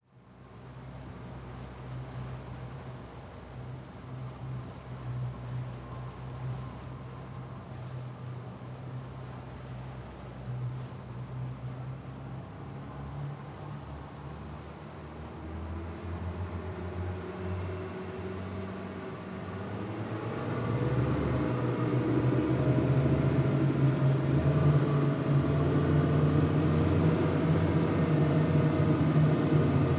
0.0s water 29.9s
15.0s zodiac engine 29.9s

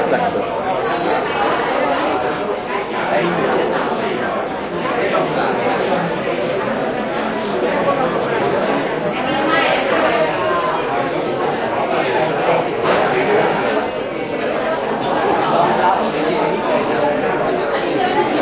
0.0s lively talk of people 18.4s

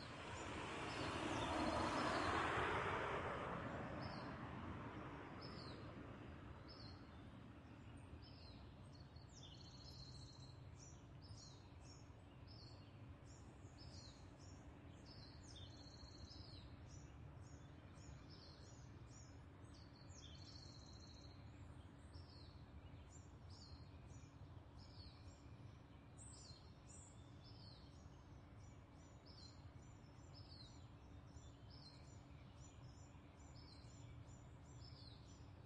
0.0s traffic 9.1s
0.1s car driving by 4.5s
12.1s traffic 35.6s

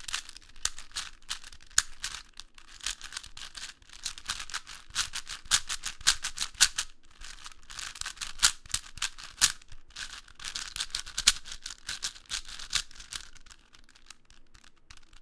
0.0s quick solve of a 4x4x4 Cube 15.2s

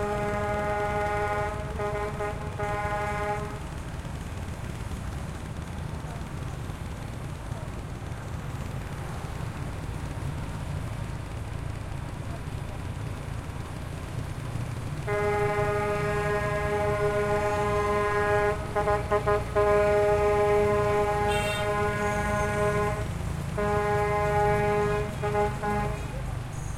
0.0s horn honks 3.8s
0.0s traffic medium 26.7s
15.0s horn honks 26.7s

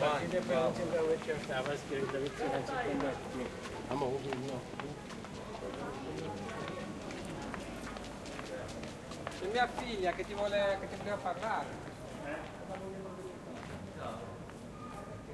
0.0s crowd 15.3s

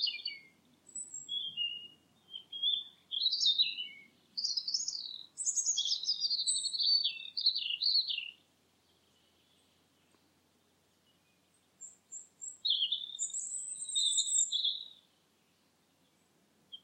0.0s birdsong 16.8s

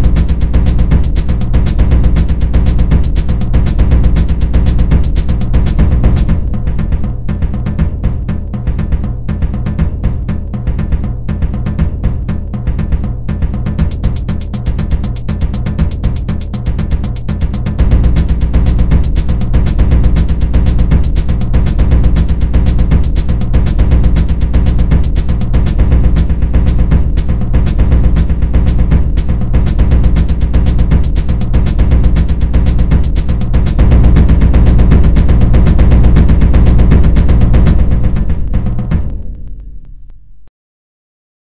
0.0s hihat 39.6s
0.0s bassdrum acoustic 39.8s

